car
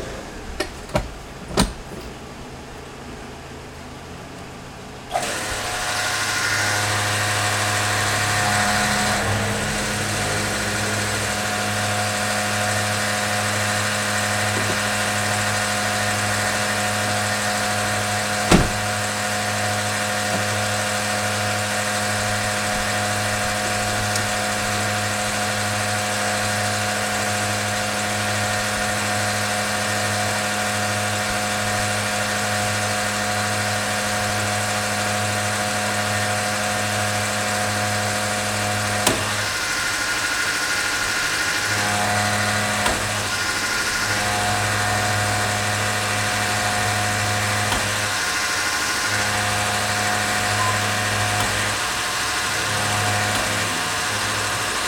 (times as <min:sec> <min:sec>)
0:00.0 0:30.4, 0:42.7 0:54.8